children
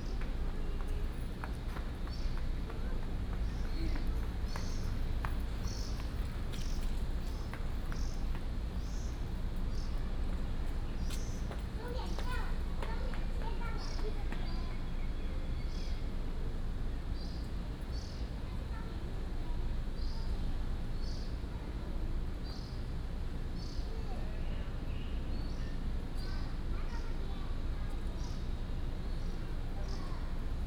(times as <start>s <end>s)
11.5s 14.9s, 26.0s 30.6s